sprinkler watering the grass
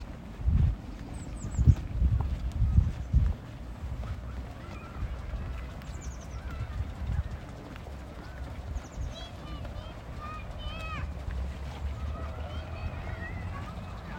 4.6s 14.1s

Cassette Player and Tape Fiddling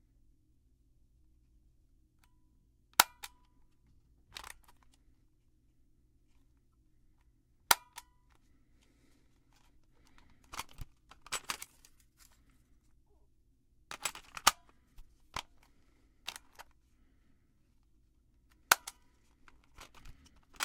9.5s 12.4s, 13.9s 16.8s, 18.6s 20.6s

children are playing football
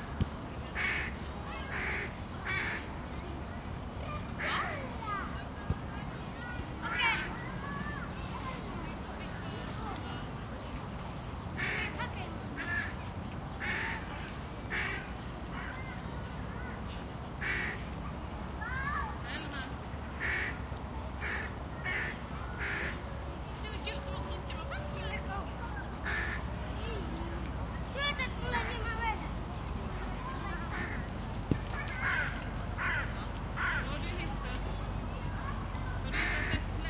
0.0s 10.9s, 20.6s 36.8s

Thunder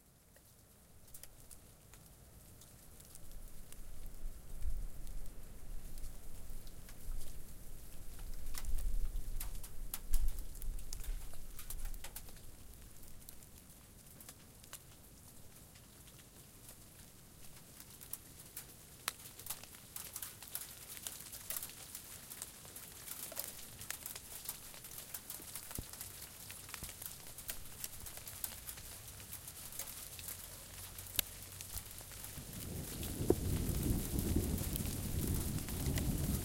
32.4s 36.4s

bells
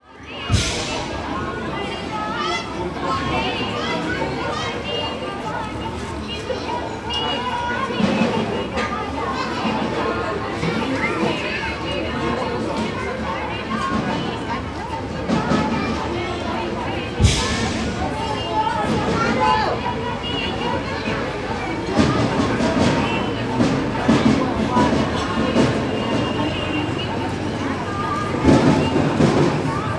12.5s 29.9s

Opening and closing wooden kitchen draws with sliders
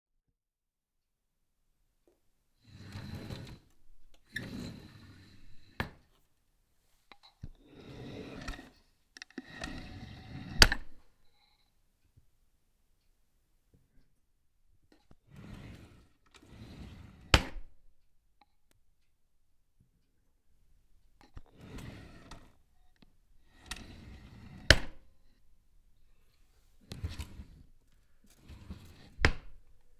2.7s 6.0s, 7.7s 8.8s, 9.4s 11.0s, 15.3s 17.6s, 21.4s 22.7s, 23.5s 25.1s, 26.6s 29.9s

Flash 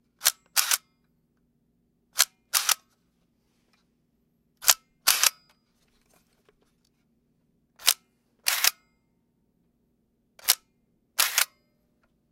11.2s 11.5s

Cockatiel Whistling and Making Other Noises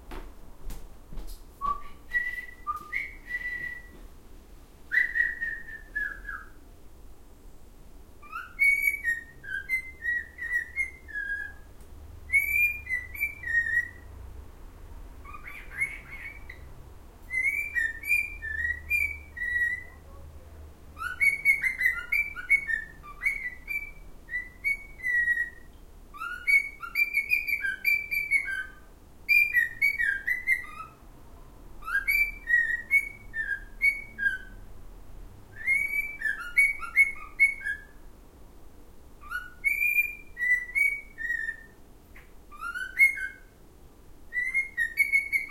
1.6s 4.0s, 4.9s 6.6s, 8.2s 11.7s, 12.3s 14.0s, 15.2s 16.7s, 17.3s 19.9s, 21.0s 31.0s, 31.8s 34.6s, 35.6s 38.0s, 39.2s 43.5s, 44.3s 45.5s

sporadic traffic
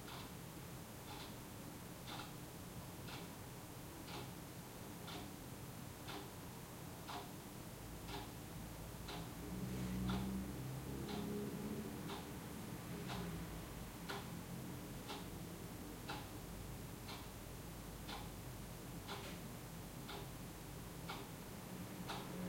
8.0s 17.8s, 20.3s 22.4s

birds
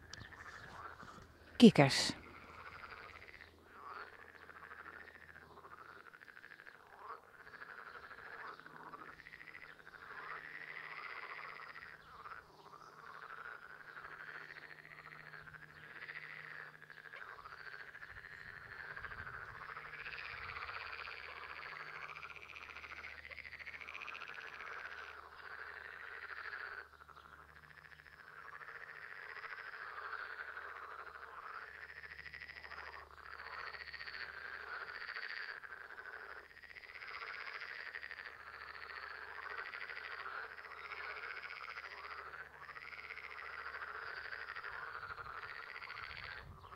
0.0s 1.6s, 2.2s 21.3s

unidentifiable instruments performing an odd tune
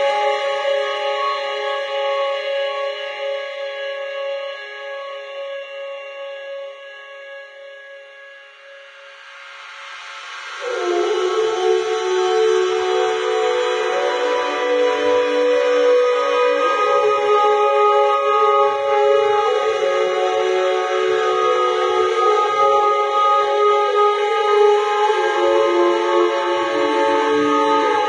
10.4s 28.0s

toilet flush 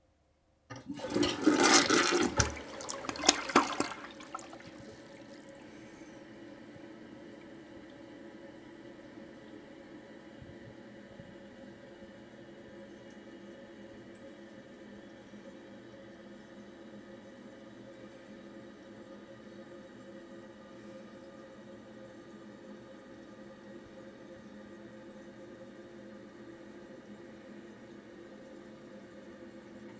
0.7s 6.1s

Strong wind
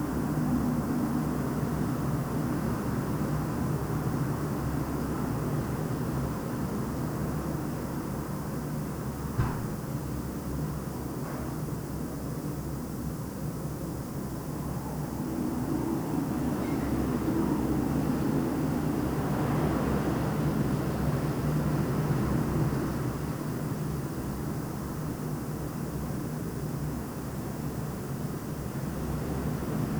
14.2s 23.3s

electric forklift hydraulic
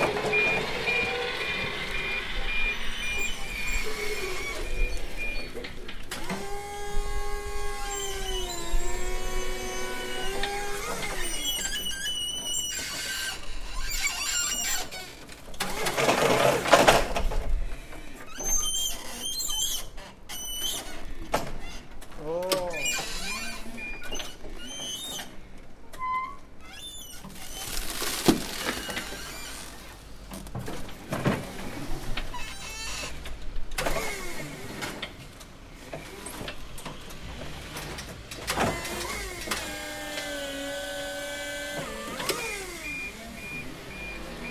0.0s 15.0s, 33.8s 44.5s

